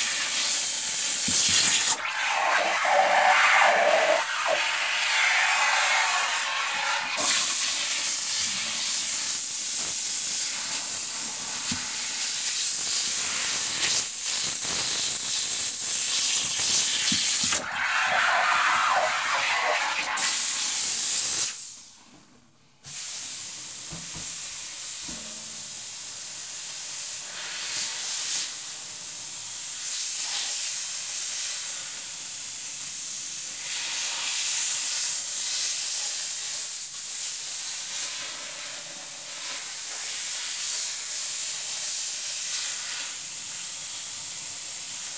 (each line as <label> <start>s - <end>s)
steam pressure cleaner 0.0s - 21.8s
blowing was in water 1.3s - 7.6s
blowing was in water 17.5s - 20.9s
steam pressure cleaner 22.9s - 45.1s